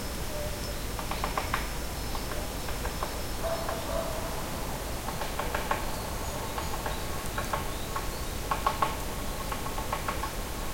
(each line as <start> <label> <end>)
1.0 woodpecker 4.2
3.4 dog 4.3